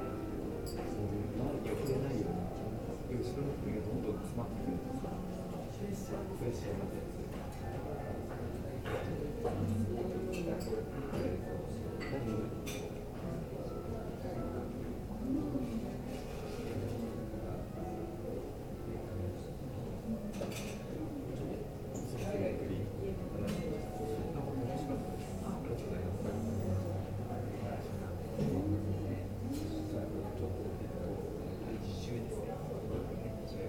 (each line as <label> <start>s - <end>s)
pianist playing live 0.0s - 5.5s
other people talking 0.1s - 33.6s
pianist playing live 9.3s - 20.2s